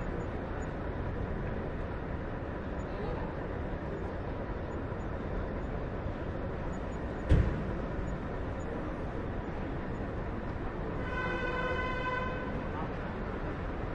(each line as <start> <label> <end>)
0.0 buses 13.9
0.0 tourists 13.9